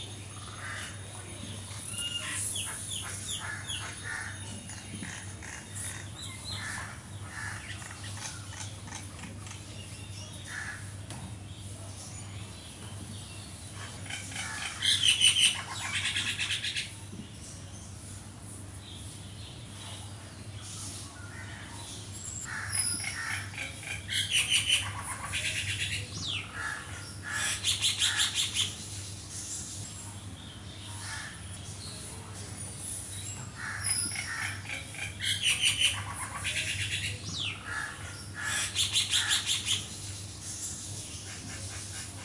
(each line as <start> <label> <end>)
22.5 crow 23.6
26.5 crow 28.4
31.0 crow 31.4
37.6 crow 39.6